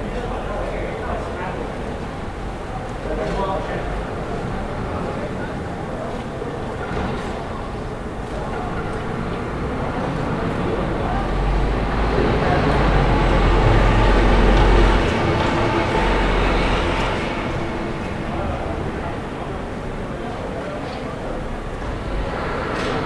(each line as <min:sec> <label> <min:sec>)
0:00.0 people talking 0:23.0
0:00.0 traffic 0:23.0